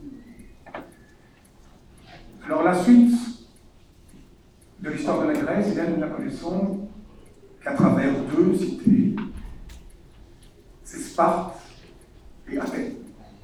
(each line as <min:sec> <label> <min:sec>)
0:04.5 course of antic history 0:10.2